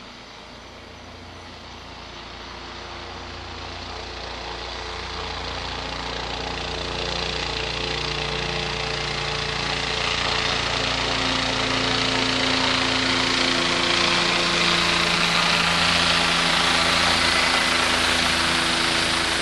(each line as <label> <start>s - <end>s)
Police helicopter 0.0s - 19.4s